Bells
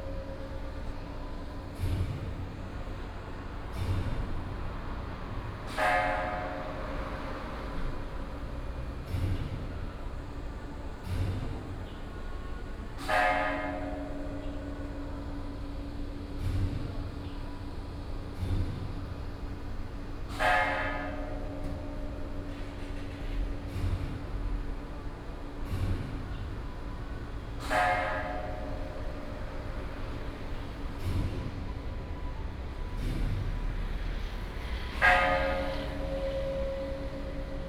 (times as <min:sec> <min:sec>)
0:35.0 0:37.6